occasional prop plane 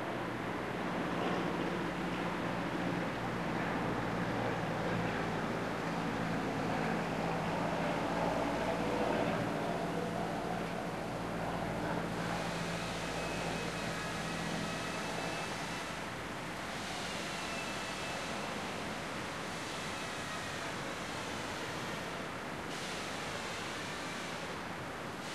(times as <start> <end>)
0.0 19.7